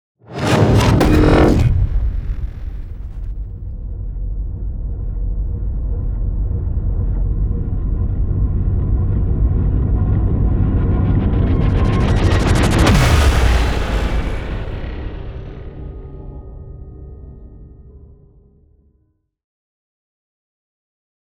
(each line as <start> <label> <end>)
0.2 riser 15.8
0.3 whoosh 6.8
0.3 impact 7.8